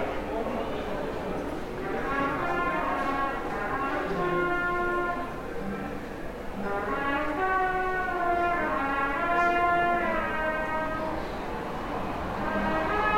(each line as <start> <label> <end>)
0.0 people 13.1
1.8 trumpete being played by a musician 5.9
6.5 trumpete being played by a musician 11.4
7.8 traffic 13.1
12.4 trumpete being played by a musician 13.1